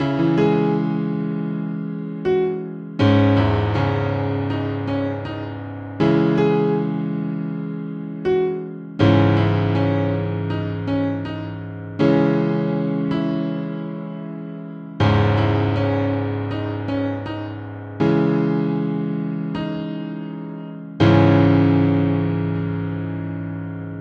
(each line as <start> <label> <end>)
0.0 Piano 24.0